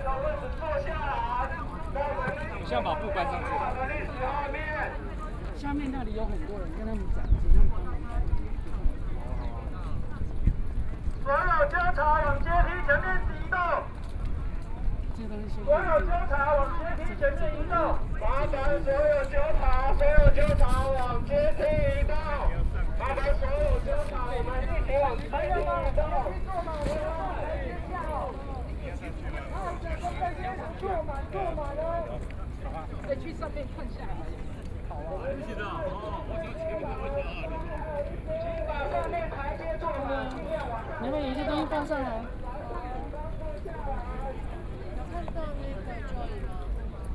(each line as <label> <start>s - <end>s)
speeches 0.0s - 47.1s
protest march 10.4s - 47.0s